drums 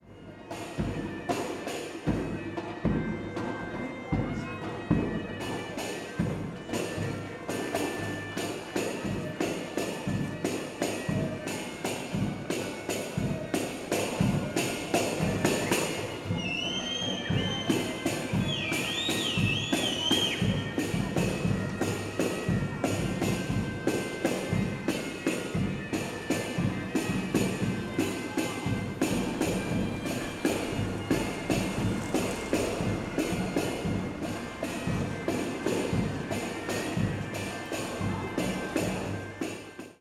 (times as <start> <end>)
0.7 1.3, 2.0 3.2, 12.0 38.1